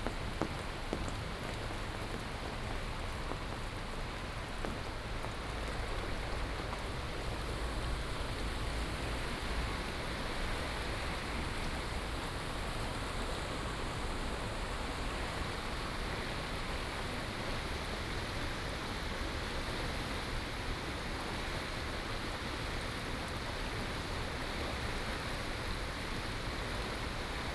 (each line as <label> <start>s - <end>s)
Rainy Day 0.0s - 17.1s
river 0.0s - 27.5s